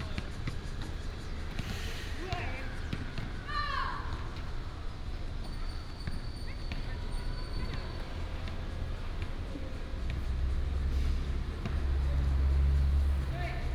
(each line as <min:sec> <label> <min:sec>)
0:00.0 Traffic sound 0:13.7